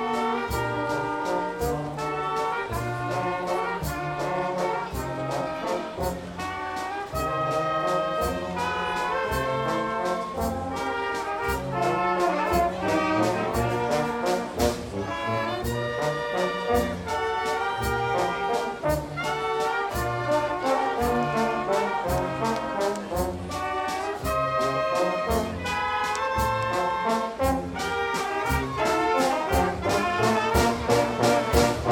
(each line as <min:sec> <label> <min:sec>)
0:00.0 people on main town square are listening 0:31.9